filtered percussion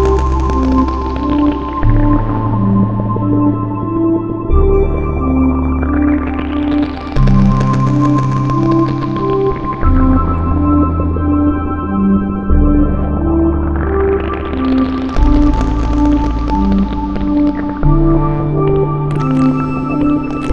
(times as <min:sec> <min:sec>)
0:14.5 0:20.5